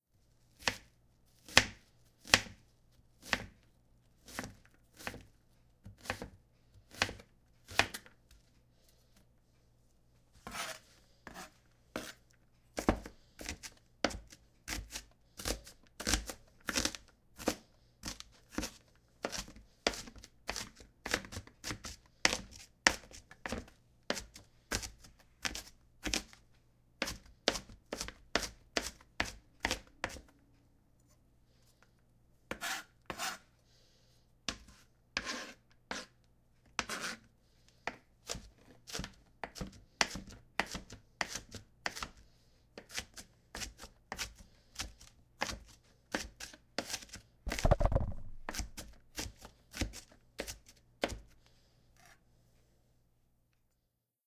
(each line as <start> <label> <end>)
0.5 crunch of dicing an onion 8.5
10.4 crunch of dicing an onion 30.4
34.5 crunch of dicing an onion 51.5
47.5 hit the recorder with my knife 48.6